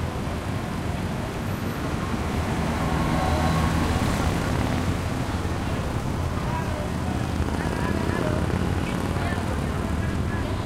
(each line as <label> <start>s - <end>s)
cars 0.0s - 10.6s
throaty motorcycles 0.1s - 10.6s
mopeds 2.3s - 10.6s
people 5.5s - 10.6s